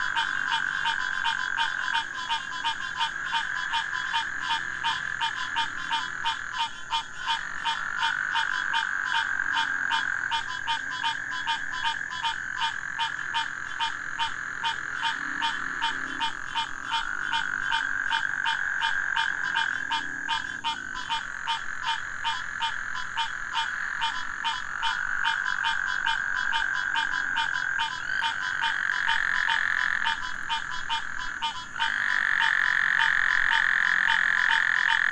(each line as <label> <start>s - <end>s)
crickets 0.0s - 35.1s
mating calls of several species of frogs 0.0s - 35.1s